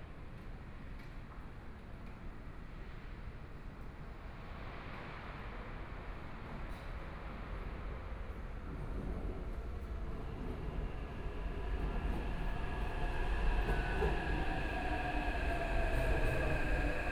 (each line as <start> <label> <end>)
0.0 Trains arrive at the station 17.1
2.7 Train leaving the station 17.1